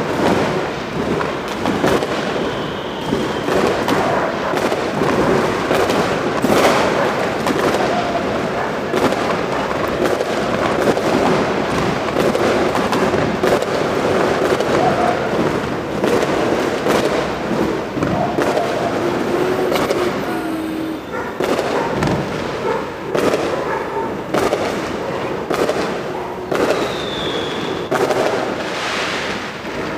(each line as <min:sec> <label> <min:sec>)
0:00.0 Fireworks 0:29.9